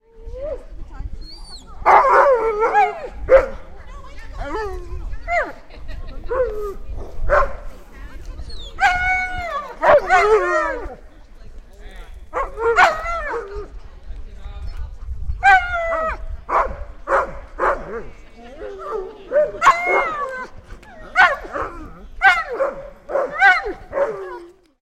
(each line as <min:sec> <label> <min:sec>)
0:00.1 several Alaskan Malamutes 0:24.8